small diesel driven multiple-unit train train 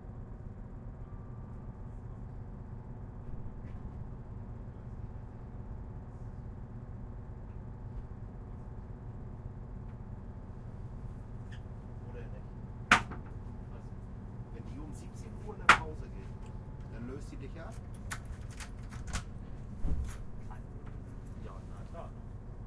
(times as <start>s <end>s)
19.3s 22.6s